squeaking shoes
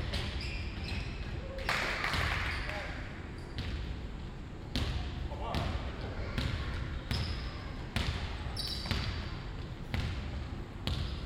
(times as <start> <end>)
0.0 1.5, 8.5 9.2